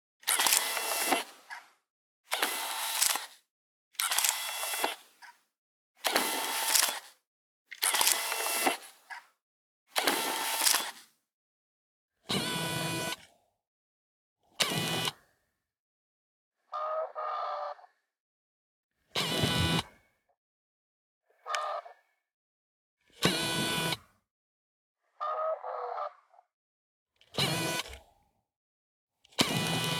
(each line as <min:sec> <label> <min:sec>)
0:00.2 zooming in and out 0:01.5
0:00.2 modern compact camera turning on and off 0:01.6
0:00.2 shutter 0:01.6
0:02.3 modern compact camera turning on and off 0:05.4
0:02.3 shutter 0:05.4
0:02.3 zooming in and out 0:03.4
0:04.0 zooming in and out 0:05.1
0:06.0 shutter 0:09.2
0:06.0 modern compact camera turning on and off 0:09.3
0:06.0 zooming in and out 0:07.2
0:07.8 zooming in and out 0:09.0
0:09.9 modern compact camera turning on and off 0:11.2
0:09.9 shutter 0:11.2
0:10.0 zooming in and out 0:11.1
0:14.6 modern compact camera turning on and off 0:15.2
0:19.2 modern compact camera turning on and off 0:19.8
0:23.2 modern compact camera turning on and off 0:24.0
0:27.3 modern compact camera turning on and off 0:28.0
0:27.3 shutter 0:28.0
0:27.4 zooming in and out 0:28.0
0:29.4 modern compact camera turning on and off 0:29.9
0:29.4 shutter 0:29.9
0:29.4 zooming in and out 0:29.9